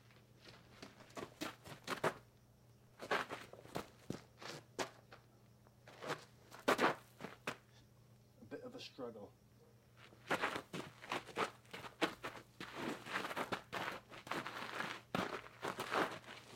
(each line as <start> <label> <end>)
0.0 Boots Running 2.3
0.0 Hard Sole Boots walking on Hard Packed dirt 2.3
3.0 Hard Sole Boots walking on Hard Packed dirt 7.6
3.0 Boots Running 5.2
10.0 Boots Running 16.5
10.0 Hard Sole Boots walking on Hard Packed dirt 16.5